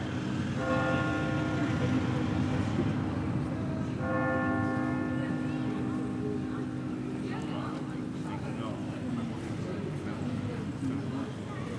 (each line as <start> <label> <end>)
0.5 bells ringing hour 8.9